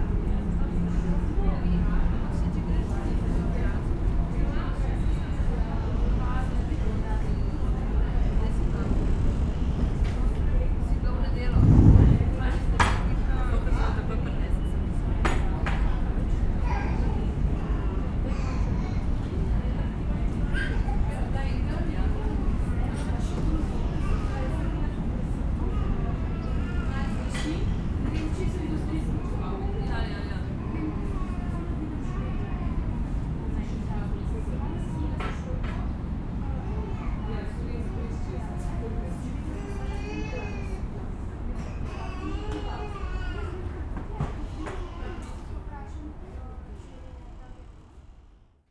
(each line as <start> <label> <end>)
0.0 city sounds 13.3